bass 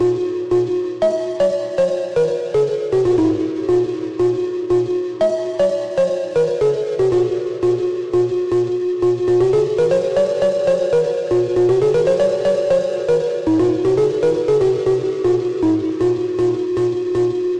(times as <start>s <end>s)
13.5s 17.5s